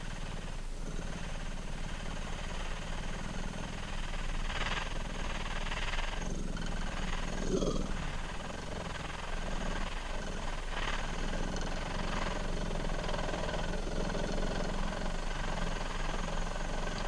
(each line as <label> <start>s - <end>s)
engine 0.0s - 17.0s